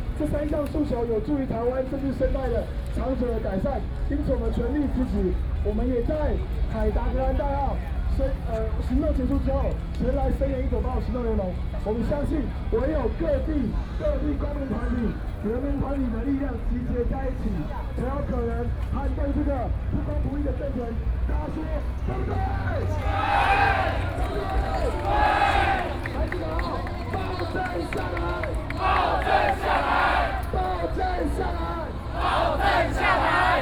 Protest 0:21.5 - 0:33.6

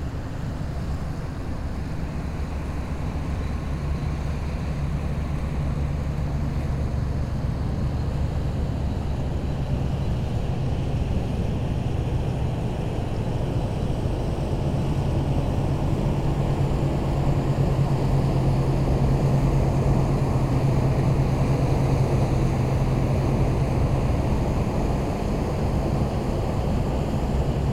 cargo ship 0:00.0 - 0:27.7

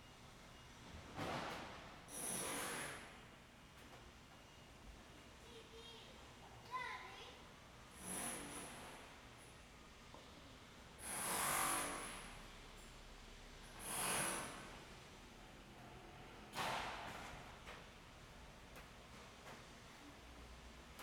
Construction 0:00.9 - 0:04.1
Construction 0:08.0 - 0:09.4
Construction 0:11.0 - 0:21.0

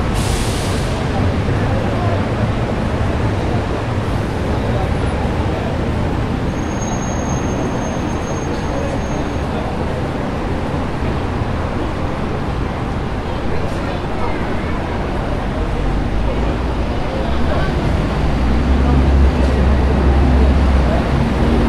people sound 0:00.0 - 0:06.7
people sound 0:07.4 - 0:21.6

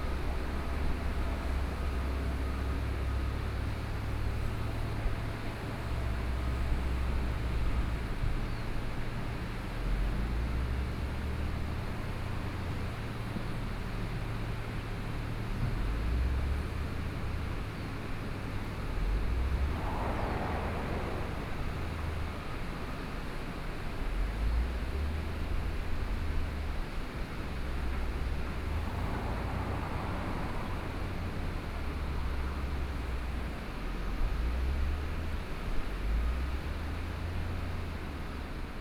Traffic Sound 0:00.0 - 0:38.8
Stream after Typhoon 0:18.8 - 0:26.0

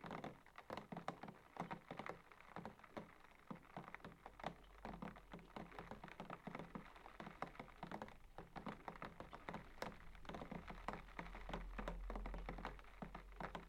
Rain On The Window 0:00.0 - 0:13.6

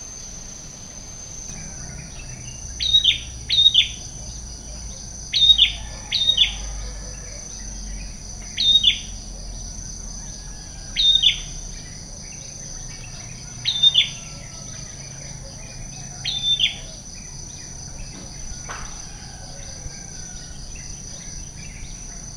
Balinese Tree Frogs 0:00.0 - 0:22.3

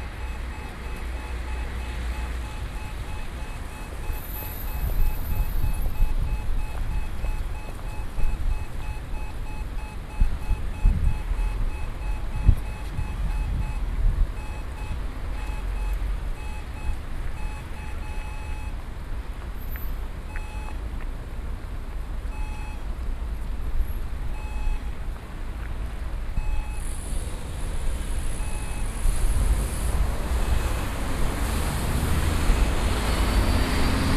pedestrian crossing 0:00.0 - 0:34.1

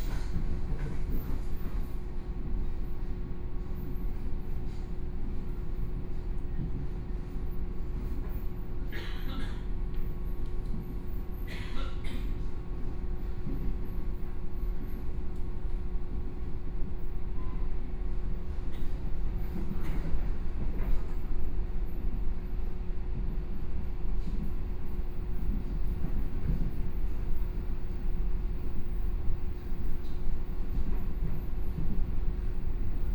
Local Train 0:00.0 - 0:33.1

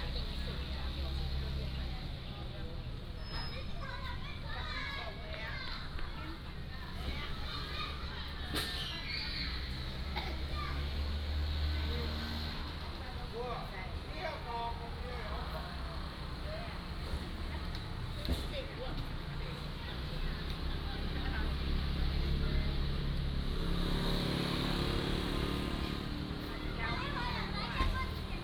Traffic Sound 0:00.0 - 0:28.4
Children 0:03.2 - 0:12.9
Children 0:24.0 - 0:28.4

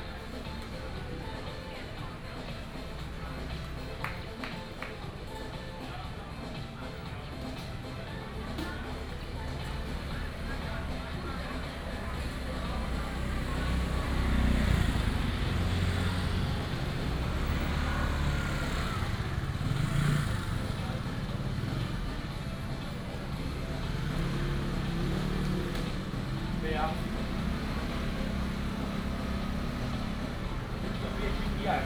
Traffic sound 0:00.0 - 0:31.8
Walk through the market 0:00.0 - 0:31.8
vendor 0:00.0 - 0:31.8

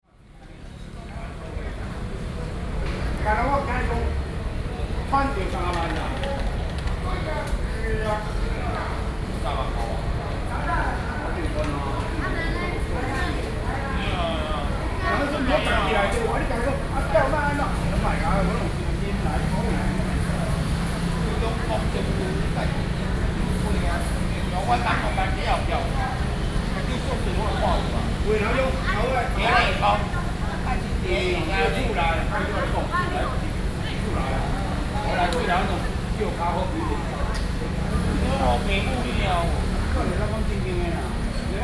people in the debate 0:03.1 - 0:41.6

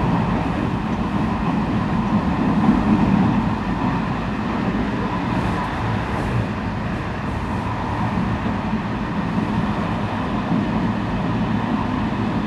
train 0:00.0 - 0:12.4

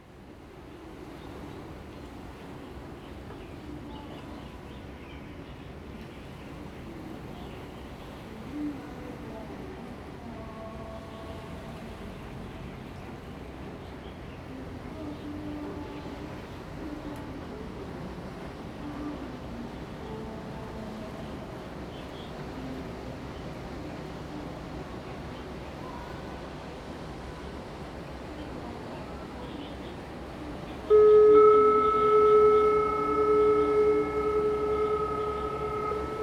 waves 0:00.0 - 0:36.2

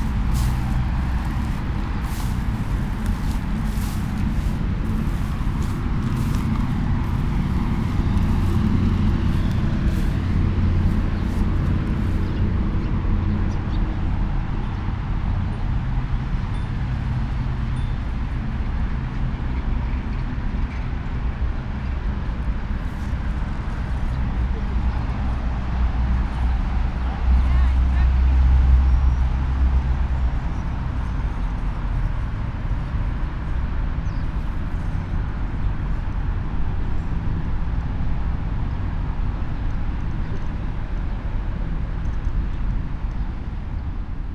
Kamogawa river 0:00.0 - 0:13.3

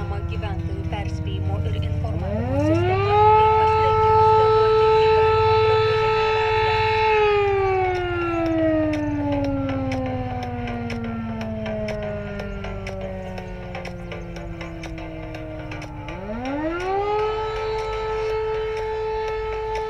Sirens 0:00.0 - 0:19.8

